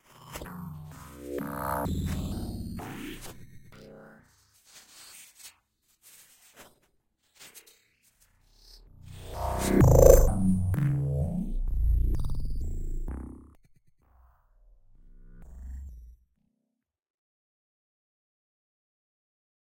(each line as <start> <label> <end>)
9.2 Machine Glitches 13.5